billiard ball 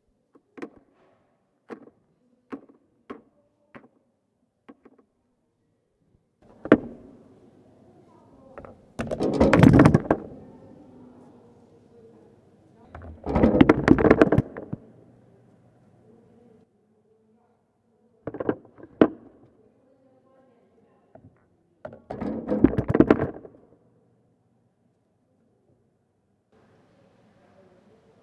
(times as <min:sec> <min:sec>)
0:06.4 0:07.3, 0:08.6 0:10.6, 0:12.9 0:15.0, 0:18.3 0:19.5, 0:21.9 0:23.8